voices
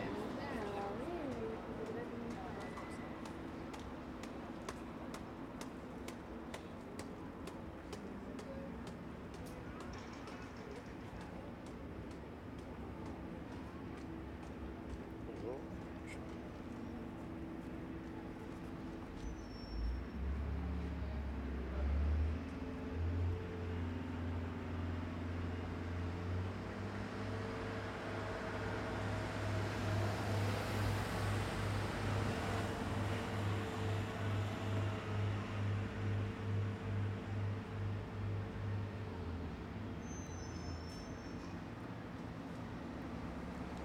0:00.0 0:05.2

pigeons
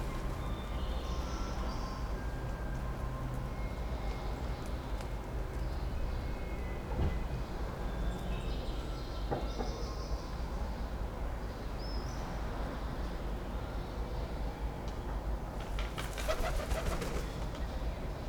0:15.6 0:17.7

